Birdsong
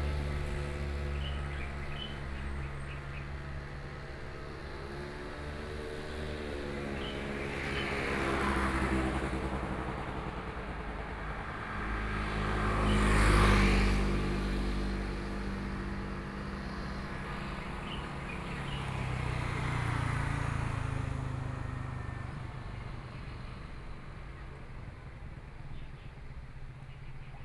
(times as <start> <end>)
0.9 3.4, 6.5 8.6, 17.3 20.4